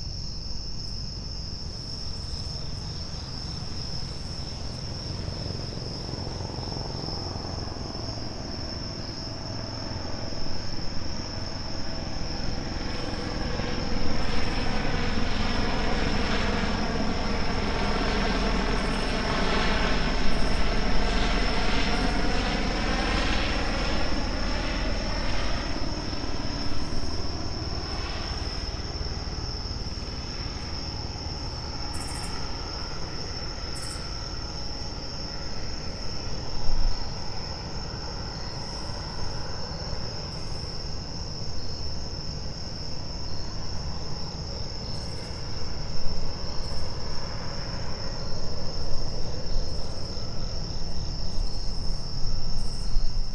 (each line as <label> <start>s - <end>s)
HVAC 0.0s - 53.3s